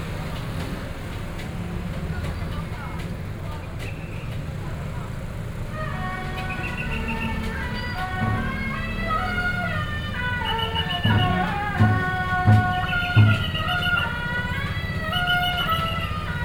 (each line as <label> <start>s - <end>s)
Roadside vendors selling chicken dishes 0.0s - 16.4s
Traditional temple festivals team 0.0s - 16.4s
Traffic Noise 0.0s - 16.4s